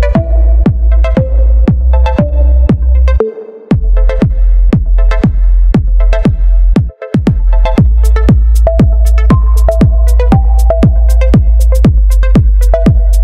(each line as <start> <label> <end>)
0.0 bass 13.2
0.0 lead 13.2
0.0 pads 13.2
3.7 kick 13.1
3.7 hats 13.2